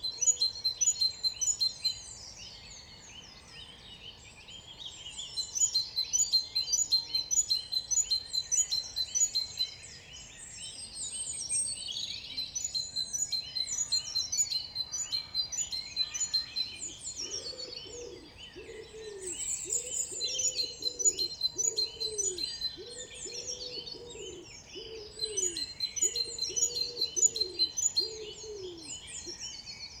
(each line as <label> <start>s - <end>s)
Eurasian Blackbird 10.4s - 30.0s
Eurasian Wren 11.5s - 30.0s
Common Wood Pigeon 12.3s - 29.6s